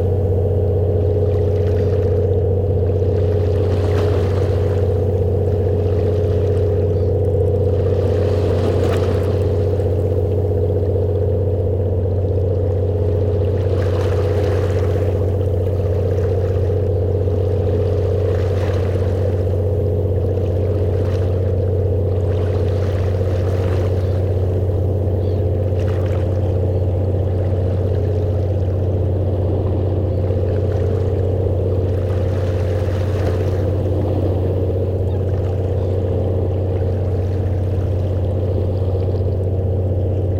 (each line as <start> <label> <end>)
0.0 Ferry leaving the harbour 40.3